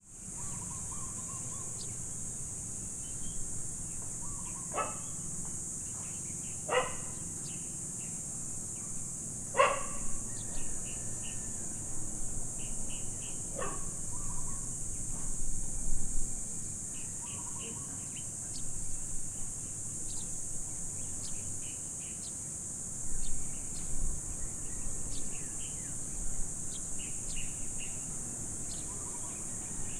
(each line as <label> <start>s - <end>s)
predominant cicadas 0.0s - 29.9s
dog barking 4.7s - 5.1s
dog barking 6.7s - 7.2s
dog barking 9.6s - 10.1s
dog barking 13.6s - 13.9s